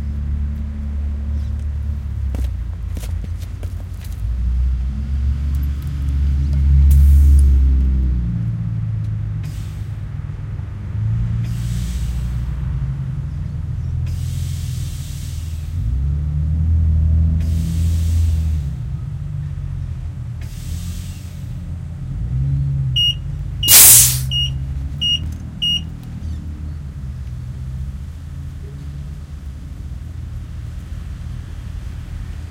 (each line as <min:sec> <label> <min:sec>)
0:00.0 other car noises in the background 0:32.5
0:09.4 tyre / tire being filled with compressed air 0:10.1
0:11.4 tyre / tire being filled with compressed air 0:12.4
0:14.0 tyre / tire being filled with compressed air 0:15.9
0:17.3 tyre / tire being filled with compressed air 0:18.9
0:20.4 tyre / tire being filled with compressed air 0:21.6
0:23.6 tyre / tire being filled with compressed air 0:24.5